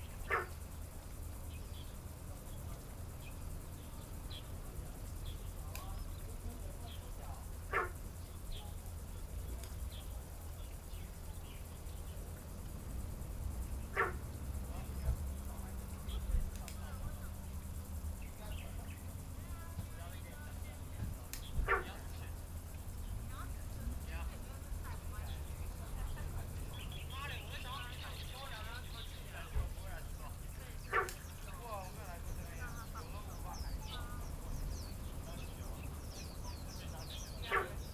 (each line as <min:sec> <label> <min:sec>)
0:00.0 Frogs sound 0:37.9
0:17.6 Birdsong 0:37.9